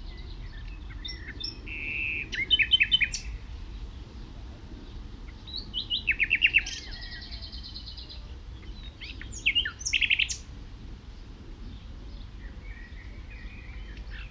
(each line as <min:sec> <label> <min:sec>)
0:00.0 blackbird 0:10.5
0:00.0 nightingale is sings very close by 0:03.4
0:05.4 nightingale is sings very close by 0:10.5
0:11.2 blackbird 0:14.3